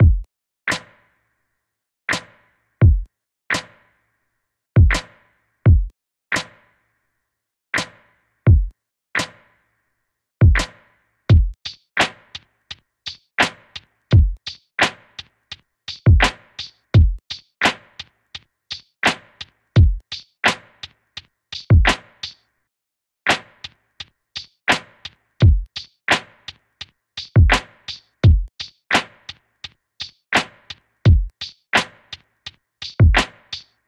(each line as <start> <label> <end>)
0.0 Lofi HipHop Drum Loop 0.8
2.8 Lofi HipHop Drum Loop 3.1
4.8 Lofi HipHop Drum Loop 5.1
5.7 Lofi HipHop Drum Loop 5.9
8.5 Lofi HipHop Drum Loop 9.3
10.4 Lofi HipHop Drum Loop 10.7
11.3 Lofi HipHop Drum Loop 12.4
13.1 Lofi HipHop Drum Loop 15.2
15.9 Lofi HipHop Drum Loop 18.1
18.7 Lofi HipHop Drum Loop 20.9
21.5 Lofi HipHop Drum Loop 22.4
24.4 Lofi HipHop Drum Loop 26.6
27.2 Lofi HipHop Drum Loop 29.4
30.0 Lofi HipHop Drum Loop 32.2
32.8 Lofi HipHop Drum Loop 33.7